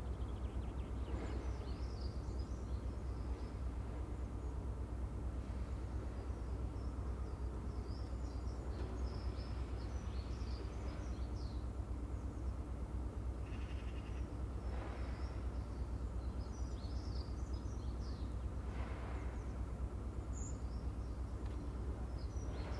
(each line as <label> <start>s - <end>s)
building site dumper truck 14.5s - 22.7s